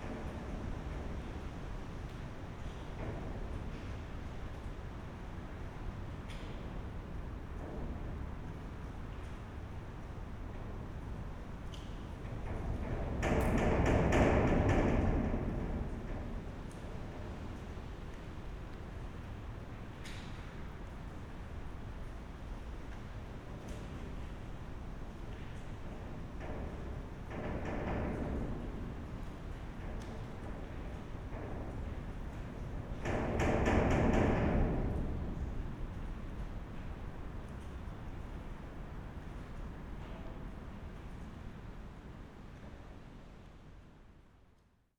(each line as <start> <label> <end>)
25.7 wind moves iron gate 37.6